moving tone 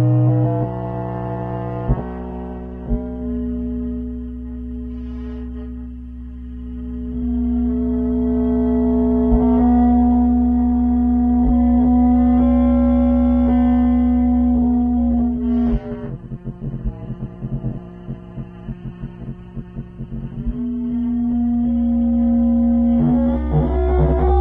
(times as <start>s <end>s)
20.3s 24.4s